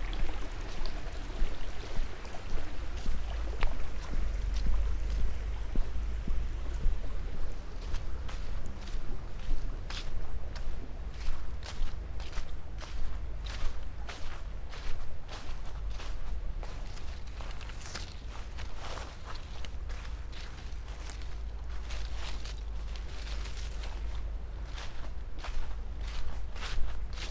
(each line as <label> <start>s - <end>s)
round walk in the city park 0.0s - 27.3s
fallen leaves 11.6s - 27.3s